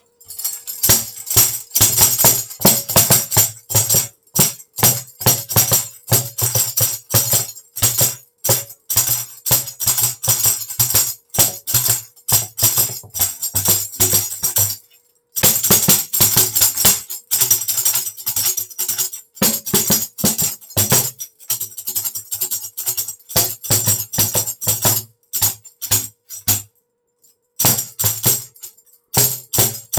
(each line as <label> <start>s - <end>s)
tambourine 0.0s - 29.9s